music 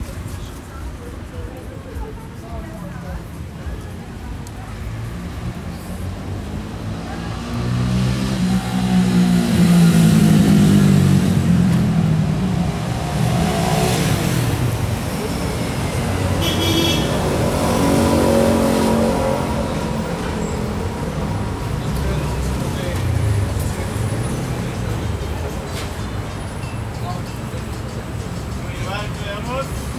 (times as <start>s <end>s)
0.0s 7.0s, 23.5s 29.9s